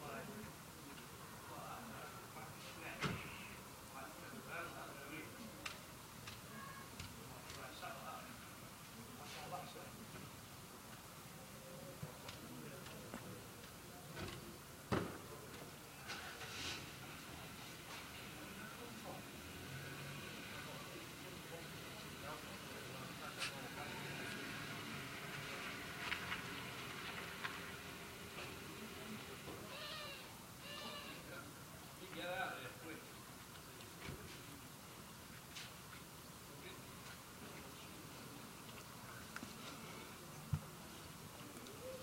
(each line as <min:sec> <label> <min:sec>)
0:00.0 small roadworks 0:42.0
0:16.4 cars driving into the small cul-de-sac 0:29.6